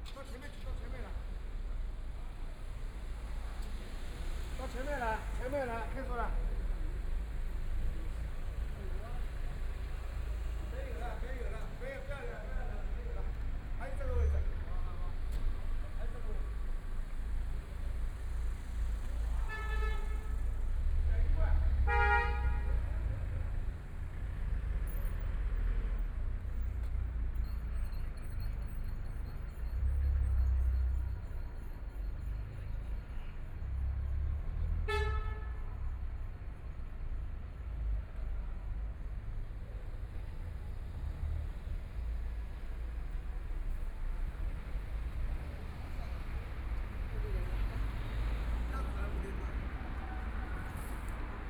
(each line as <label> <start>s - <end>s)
night streets sound 0.0s - 51.4s
Walking on the road 37.6s - 51.4s